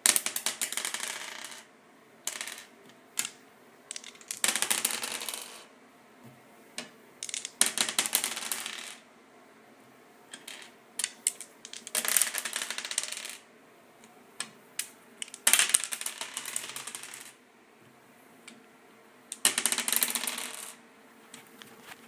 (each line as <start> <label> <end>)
0.1 percentile dice (pair of d10's) 1.7
2.3 percentile dice (pair of d10's) 5.7
6.8 percentile dice (pair of d10's) 9.0
10.3 percentile dice (pair of d10's) 13.4
14.4 percentile dice (pair of d10's) 17.4
19.3 percentile dice (pair of d10's) 20.8